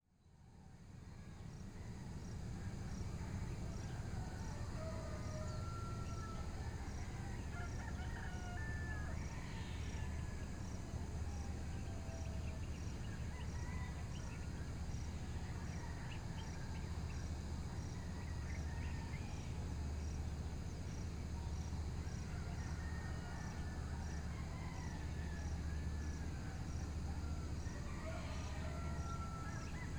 0.2s crickets 29.9s
0.2s dawn chorus from local birds 29.9s
0.2s distant fishermen’s motorboats 29.9s
0.6s roosters in the distance 29.9s
0.8s cicadas waking up 29.9s

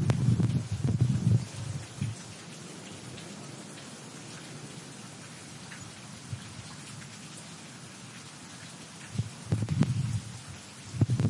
0.0s thunderstorm 5.2s
0.0s Tornado sirens 7.9s
0.0s rain 11.2s
6.1s thunderstorm 7.2s
9.1s thunderstorm 11.2s

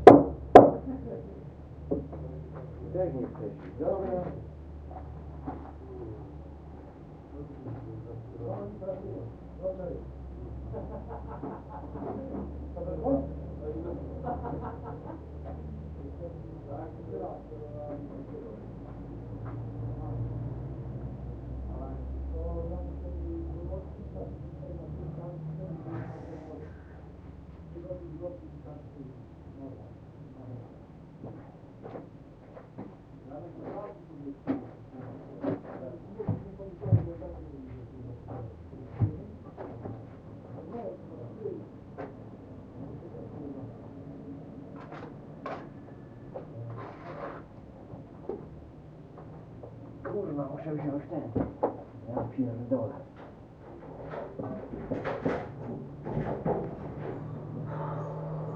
0.6s voice 6.5s
7.3s voice 18.9s
19.8s voice 20.5s
21.6s voice 27.0s
27.7s voice 30.8s
33.2s voice 41.7s
42.7s voice 43.9s
50.1s voice 51.5s
52.1s voice 53.1s
53.0s renovation 58.5s

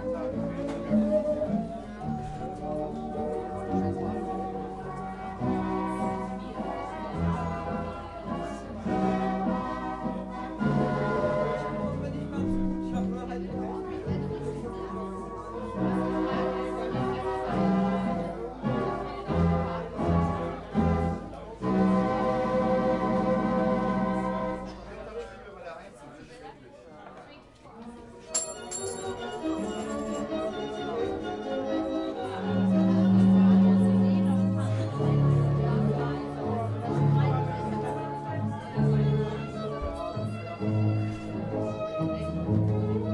0.0s 1920s music 24.8s
28.3s 1920s music 43.1s

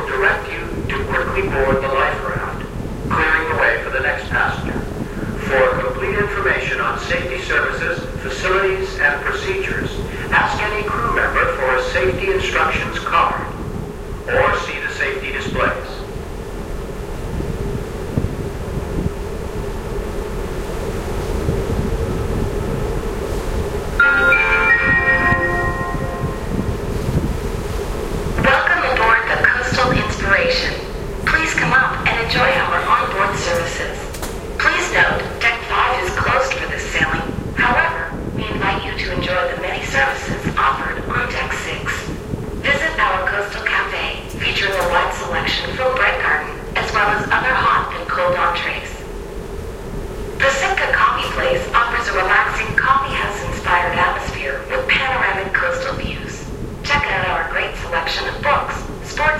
0.0s safety announcements 13.6s
0.0s Ferry Horn 59.3s
14.2s safety announcements 16.1s
24.0s safety announcements 26.8s
28.4s safety announcements 49.0s
50.4s safety announcements 59.3s

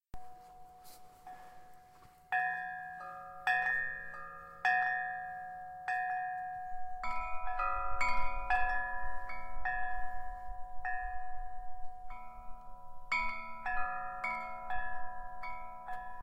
0.2s Handcrafted bells 16.2s

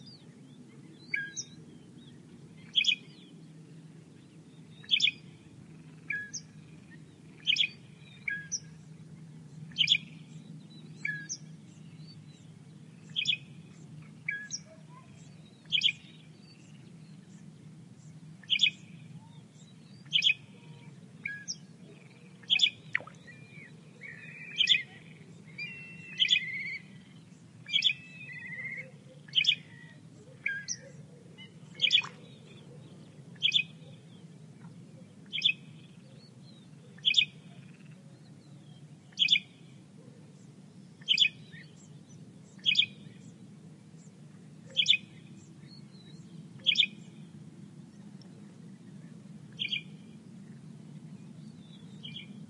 37.0s frogs croak 38.0s

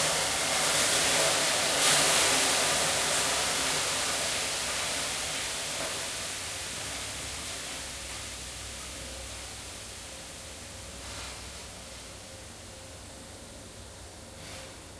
0.0s Steam 14.9s
0.0s Stove 14.9s
0.0s electric sauna session 14.9s

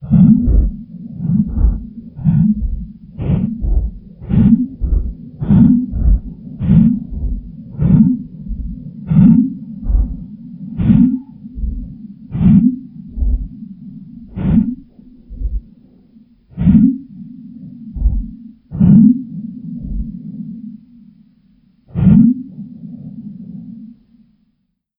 0.0s monster's dying last breaths 13.5s

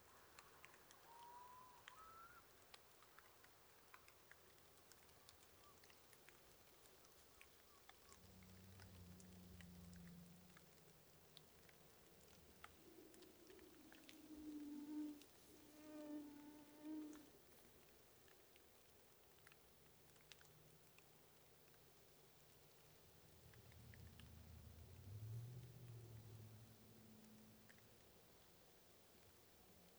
0.0s Light rain 29.9s
1.1s gull 2.4s
13.9s mosquito 17.4s

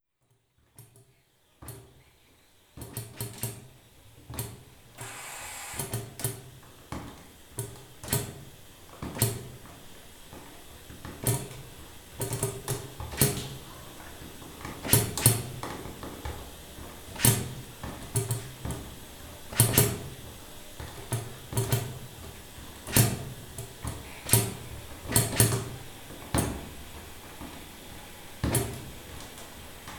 4.9s steam-driven beam engine 6.4s
5.0s hissing jets of steam 6.0s

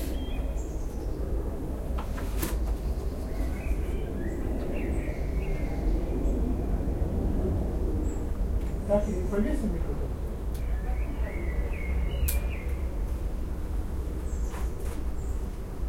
0.0s Birds 6.8s
8.0s Birds 13.1s
14.1s Birds 15.7s

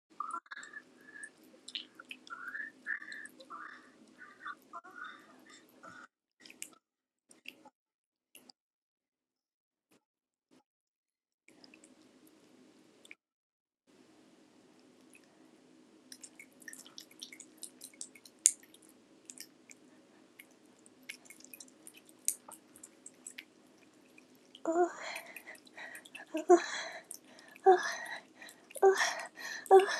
0.2s Wet Orgasm 6.6s
0.2s Rubbing, licking, and sucking a girl's vagina 7.7s
16.0s Rubbing, licking, and sucking a girl's vagina 29.9s
20.4s Wet Orgasm 29.9s
24.7s Moaning 25.2s

